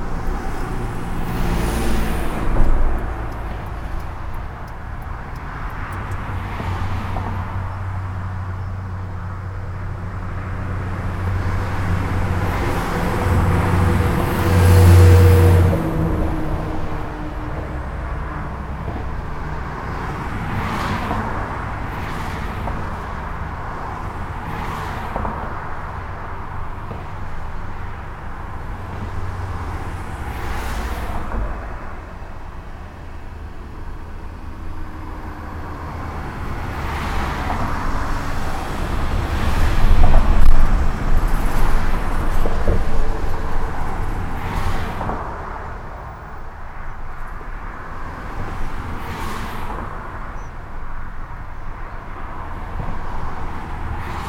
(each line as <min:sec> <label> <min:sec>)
0:00.0 dense trafic on the local highway 0:54.2